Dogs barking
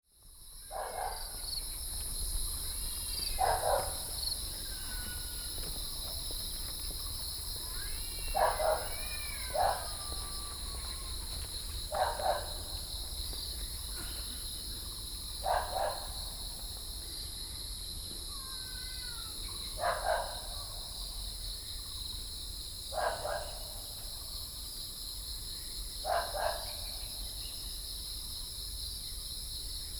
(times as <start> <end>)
0.7 1.5, 3.4 4.2, 8.3 10.2, 11.9 12.9, 15.4 16.4, 19.8 20.5, 22.9 23.9, 26.0 26.8